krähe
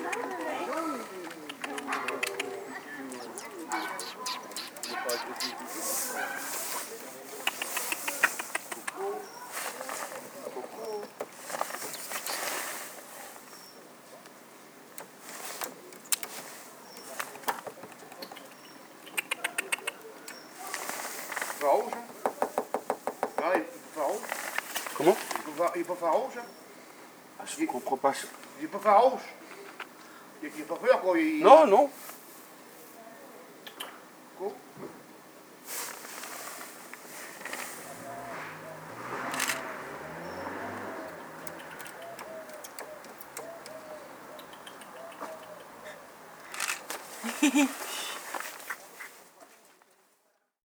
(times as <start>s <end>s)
0.0s 13.2s, 35.7s 50.0s